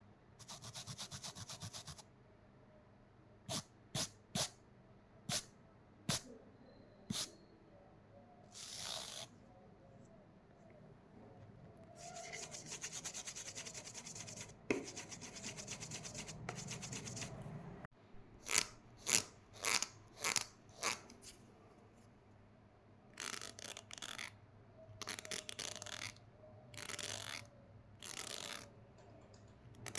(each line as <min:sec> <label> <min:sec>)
0:18.4 teeth of the comb 0:21.2
0:26.8 teeth of the comb 0:28.7